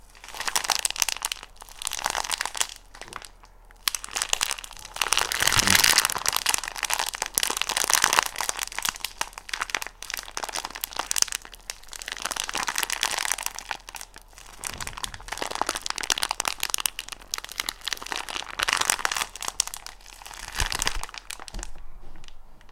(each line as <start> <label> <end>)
0.2 Bones crunch human bone 22.3